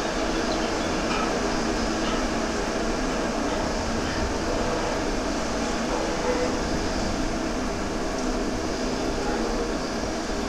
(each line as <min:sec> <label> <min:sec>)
0:00.0 factory resonating through a drainpipe 0:10.4